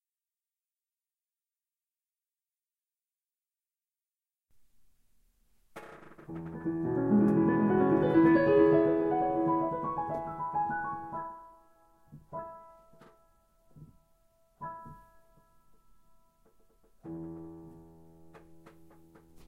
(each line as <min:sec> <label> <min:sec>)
0:05.7 creaking piano bench 0:11.2
0:06.3 student practicing a section of Debussy's Arabesque no 1 0:11.2
0:16.4 creaking piano bench 0:19.4